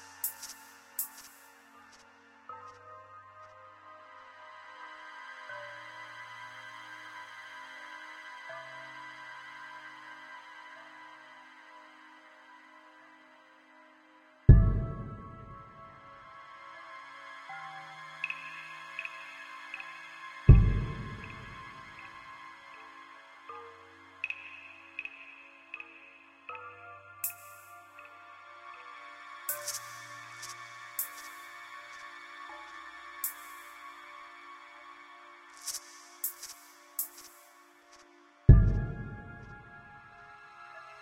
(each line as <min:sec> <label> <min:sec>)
0:00.0 Suspense/Horror background music 0:41.0